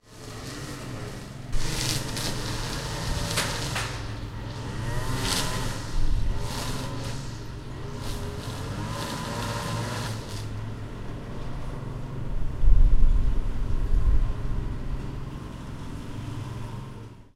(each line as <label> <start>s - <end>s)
mower 0.0s - 12.8s
mower 13.5s - 17.3s